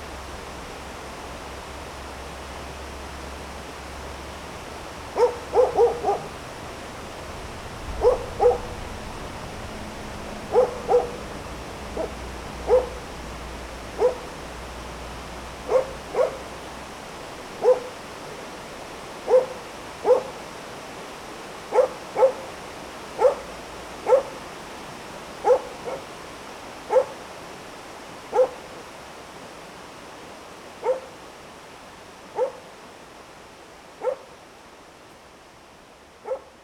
barking dog 0:05.2 - 0:06.4
barking dog 0:07.9 - 0:08.8
barking dog 0:10.5 - 0:11.3
barking dog 0:12.0 - 0:13.0
barking dog 0:14.0 - 0:14.4
barking dog 0:15.7 - 0:16.5
barking dog 0:17.6 - 0:18.0
barking dog 0:19.3 - 0:20.4
barking dog 0:21.7 - 0:22.4
barking dog 0:23.2 - 0:24.3
barking dog 0:25.4 - 0:26.1
barking dog 0:26.9 - 0:27.2
barking dog 0:28.3 - 0:28.6
barking dog 0:30.8 - 0:31.1
barking dog 0:32.4 - 0:32.6
barking dog 0:34.0 - 0:34.3
barking dog 0:36.2 - 0:36.5

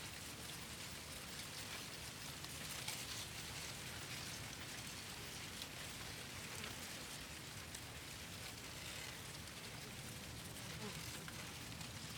Wind in the cornfield 0:00.0 - 0:12.1

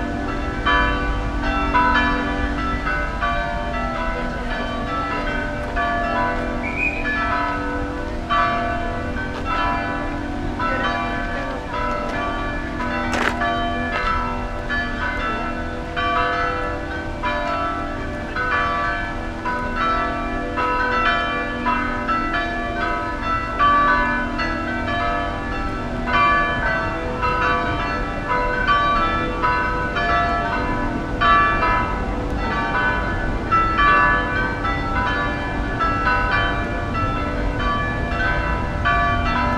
bells 0:00.0 - 0:39.5
Spanish tourists 0:00.0 - 0:39.5

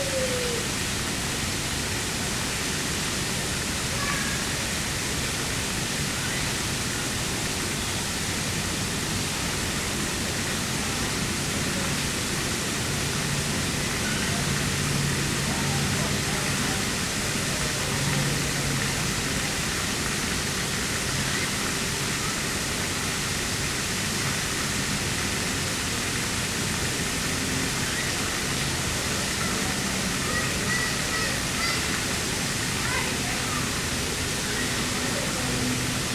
Noise from the road and parking lot 0:00.0 - 0:36.1
water sounds 0:00.0 - 0:36.1
children playing 0:03.9 - 0:04.5
children playing 0:14.0 - 0:14.6
children playing 0:27.9 - 0:35.9

